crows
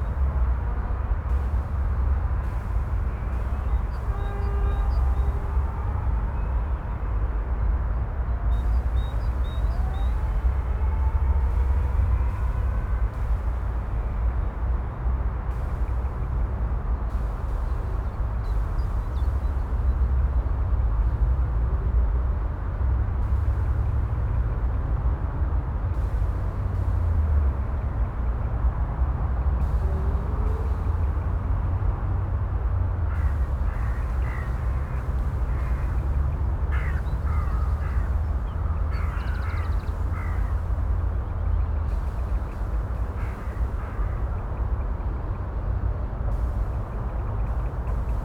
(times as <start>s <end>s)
33.2s 40.6s